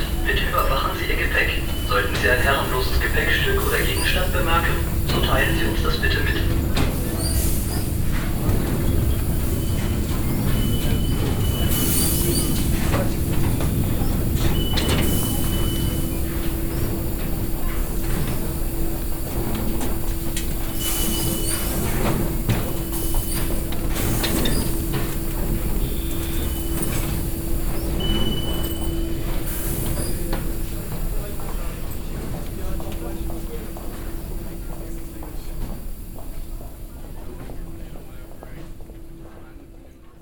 safety anouncement 0.0 - 6.7

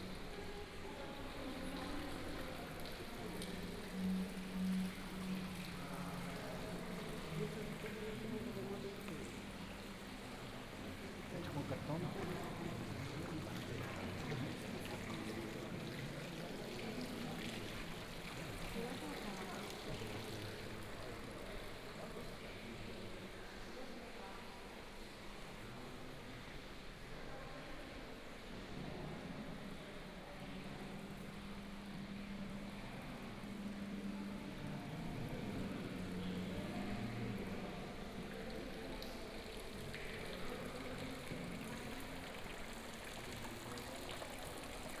Fountain 0.0 - 45.0

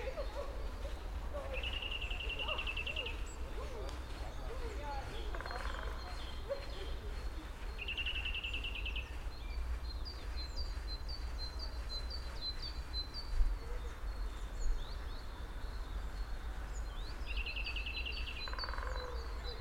subtle calls of other birds 0.0 - 19.6
Woodpecker 5.0 - 7.1
Woodpecker 18.3 - 19.5

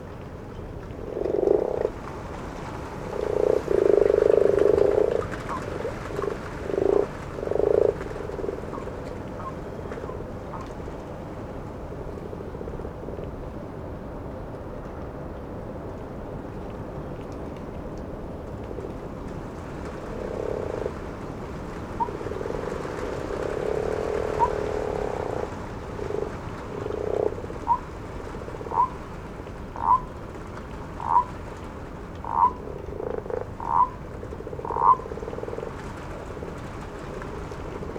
frogs or toads 1.0 - 10.7
distant owls 1.1 - 10.7
frogs or toads 18.7 - 29.0
distant owls 19.9 - 29.0
frogs or toads 29.7 - 30.1
distant owls 29.8 - 30.1
distant owls 30.9 - 31.4
frogs or toads 30.9 - 31.4
frogs or toads 32.2 - 37.9
distant owls 32.2 - 37.9

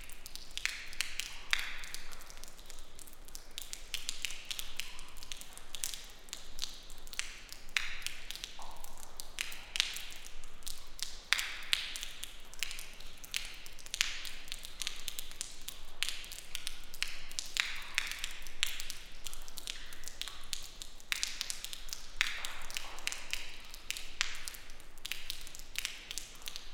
Raindrops from leaking roof#2 0.0 - 26.7
raining outside 0.0 - 26.7

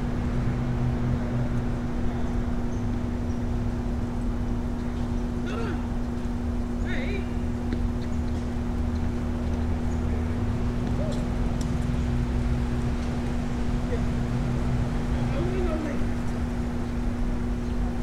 low hum emanates from the green electrical box 0.0 - 18.0

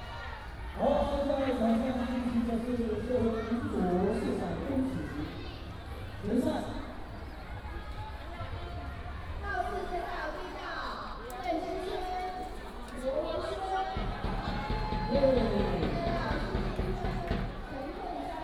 Cheer cheers 13.3 - 17.7

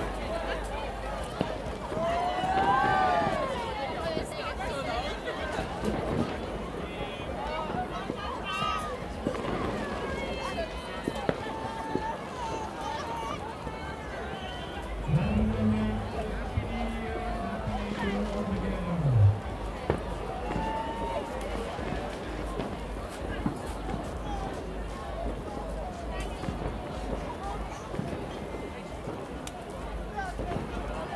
cheers 1.8 - 4.2
fireworks 5.4 - 12.6
cheers 7.2 - 22.0
fireworks 14.8 - 31.1
Bassy dance music 15.0 - 20.2

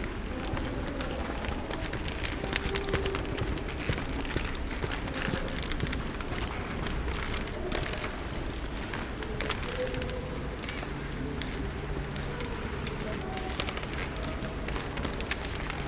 creaky old parquet floor 0.0 - 15.8

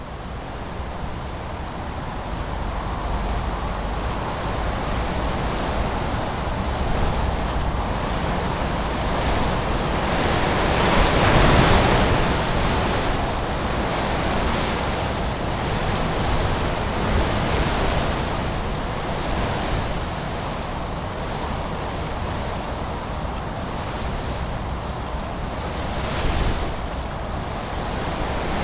terrible terrible wind, blowing into the arbours 0.0 - 28.6

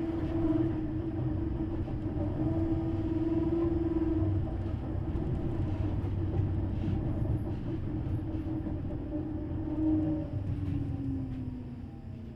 tramway engine 0.0 - 12.3

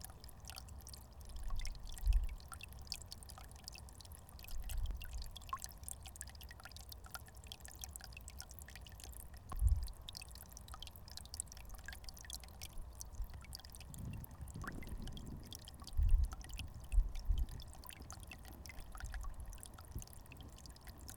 Brook 0.0 - 21.1

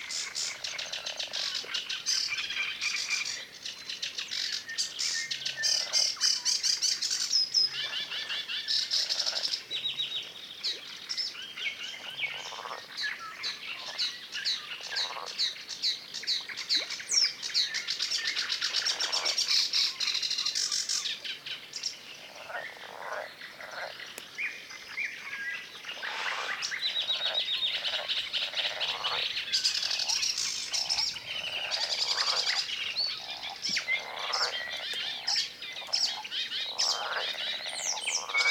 birds 0.0 - 38.5
frogs 0.0 - 38.5

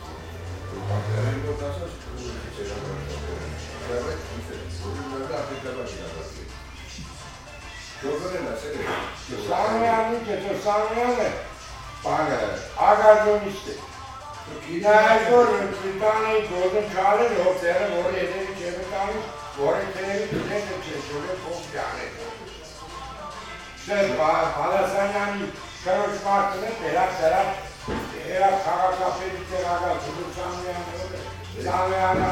old client is discussing with the old baker 0.6 - 32.3

